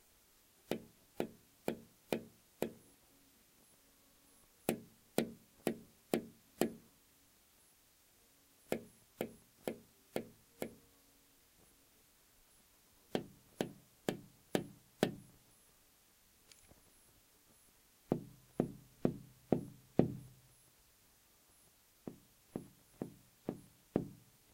Tapping on a large glass window 0:00.7 - 0:02.8
Tapping on a large glass window 0:04.6 - 0:06.8
Tapping on a large glass window 0:08.7 - 0:10.8
Tapping on a large glass window 0:13.1 - 0:15.3
Tapping on a large glass window 0:18.1 - 0:20.4
Tapping on a large glass window 0:22.0 - 0:24.3

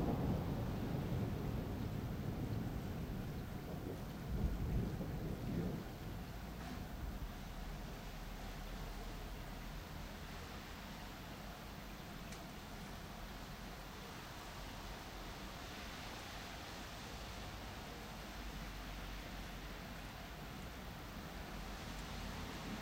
thunder 0:00.0 - 0:07.8
rain 0:00.0 - 0:22.8

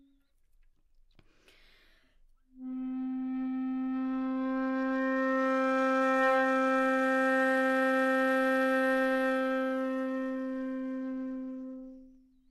flute 0:02.5 - 0:12.5

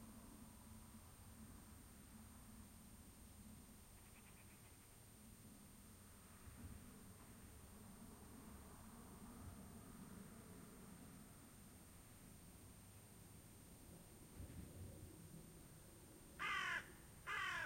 Very distant cars 0:00.0 - 0:17.6
airplanes 0:00.0 - 0:17.6
low noise of the farm itself 0:00.0 - 0:17.6
Distant song of blackbird 0:03.9 - 0:05.0
crow 0:16.4 - 0:17.6

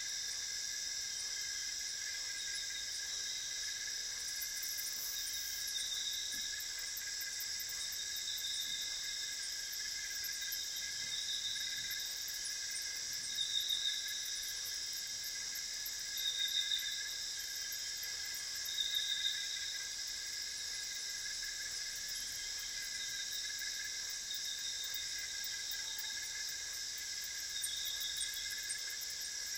crickets 0:00.0 - 0:29.5
frogs 0:00.0 - 0:29.5

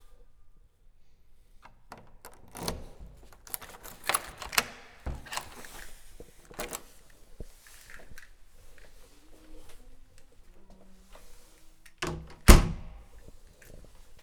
opening and closing the door to my house 0:01.6 - 0:08.9
lock mechanism 0:01.6 - 0:06.9
opening and closing the door to my house 0:11.1 - 0:14.1
lock mechanism 0:12.0 - 0:13.3

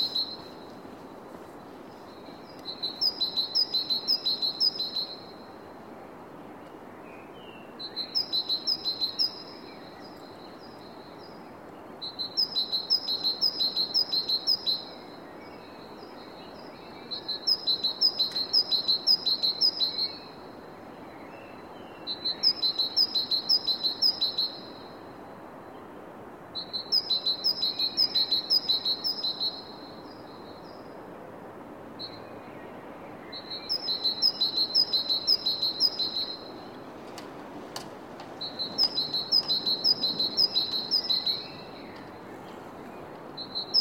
Bird singing 0:00.0 - 0:00.7
Bird singing 0:02.1 - 0:05.4
Bird singing 0:07.2 - 0:11.4
Bird singing 0:12.0 - 0:20.4
Bird singing 0:21.0 - 0:24.8
Bird singing 0:26.6 - 0:30.8
Bird singing 0:32.0 - 0:36.9
Bird singing 0:38.4 - 0:43.8

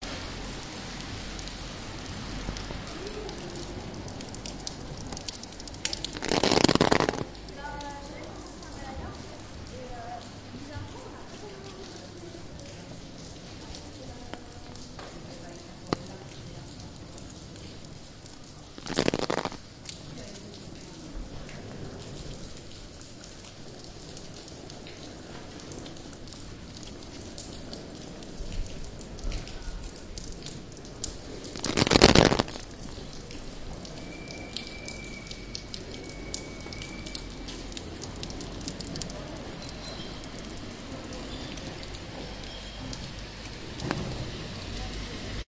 Rain on an umbrella 0:00.0 - 0:45.5
drainages at quite a height hit the umbrella alternately 0:00.0 - 0:45.5

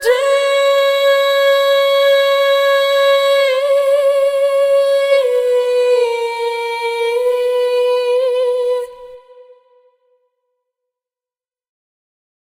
singing 0:00.0 - 0:09.9

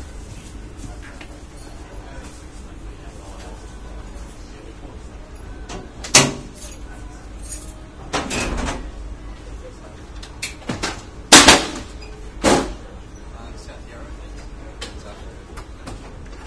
loud banging heard at the stations 0:10.5 - 0:13.0

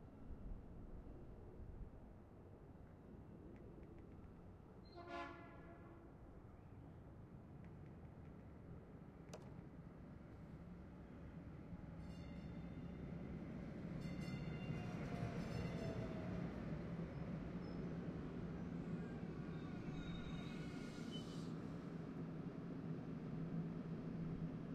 train 0:00.0 - 0:24.7
train horn 0:04.9 - 0:06.2

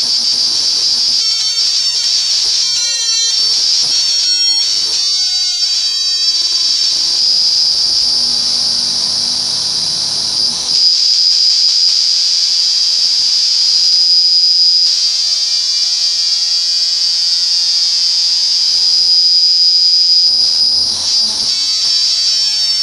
ring modulated guitar noise 0:00.0 - 0:15.0

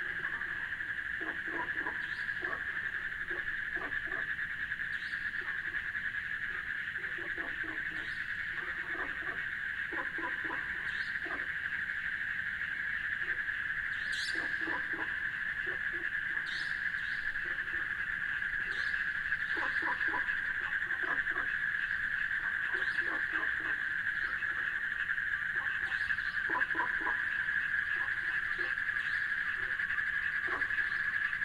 Water Pond 0:00.0 - 0:31.4
bullfrog 0:00.0 - 0:31.4
cricket 0:00.0 - 0:31.4
nighthawk circled overhead 0:00.0 - 0:31.4

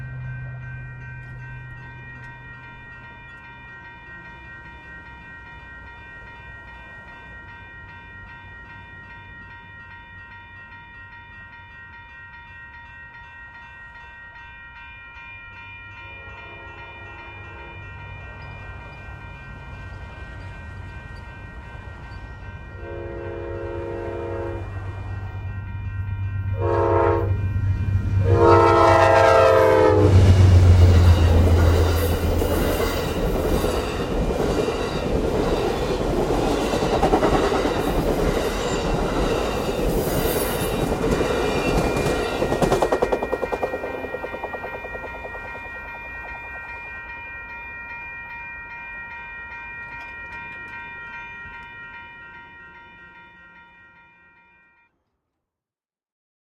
short passenger train 0:00.0 - 0:54.8

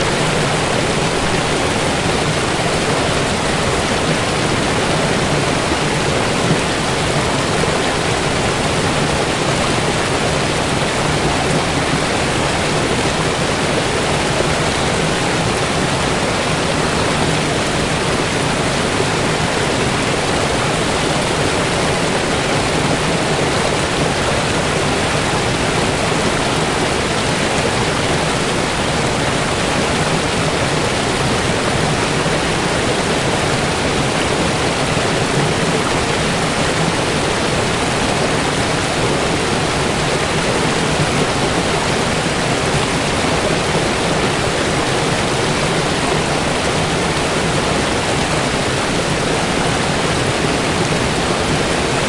waterfall 0:00.0 - 0:52.0

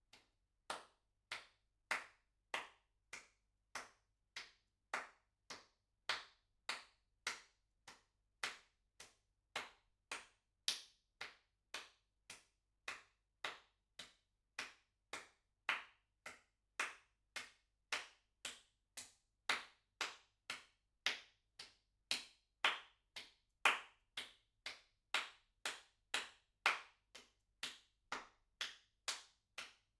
Applause 0:00.7 - 0:08.6
Applause 0:14.6 - 0:29.8

